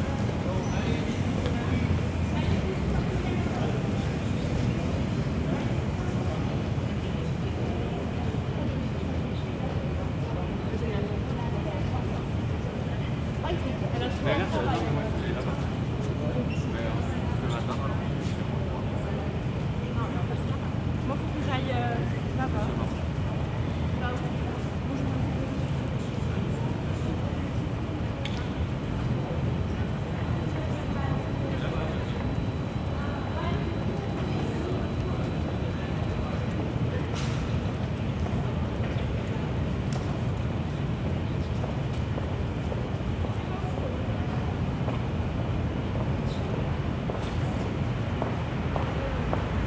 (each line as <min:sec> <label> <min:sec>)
0:00.0 air conditioning 0:49.6
0:00.0 people talking 0:49.6